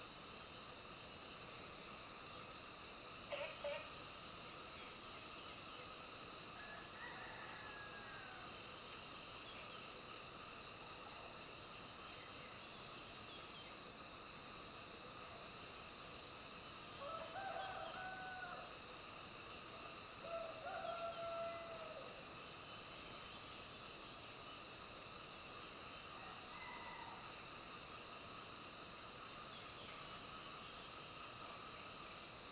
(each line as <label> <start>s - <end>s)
Frogs chirping 3.3s - 6.0s
Frogs chirping 19.4s - 24.8s